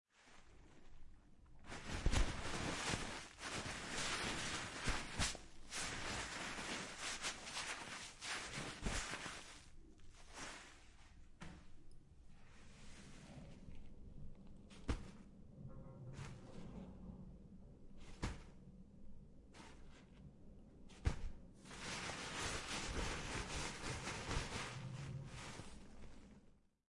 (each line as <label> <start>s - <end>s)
Touching the Toilet Paper 1.5s - 13.8s
Touching the Toilet Paper 20.9s - 26.4s